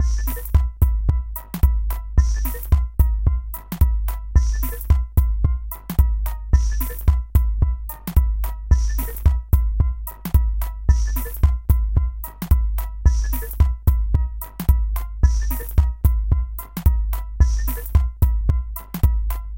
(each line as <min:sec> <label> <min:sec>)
0:00.0 minimalistic beat 0:19.5
0:00.0 Detuned and randomly-pitched claves 0:00.8